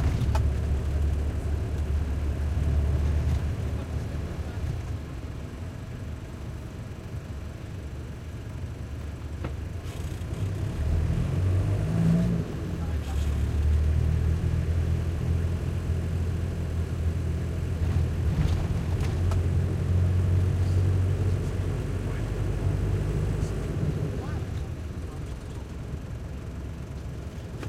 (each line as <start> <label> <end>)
0.0 truck minibus int throaty driving real bumpy 27.6